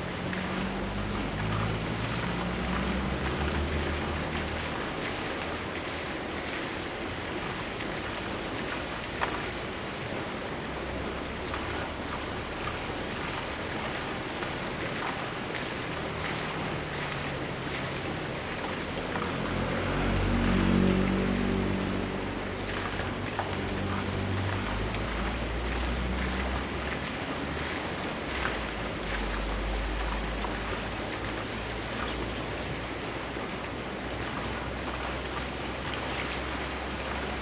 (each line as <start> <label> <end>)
0.0 Waterwheel 37.4